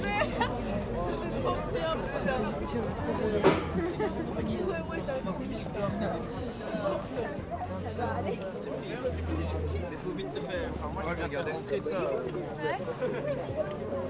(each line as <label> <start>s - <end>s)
students 0.0s - 14.0s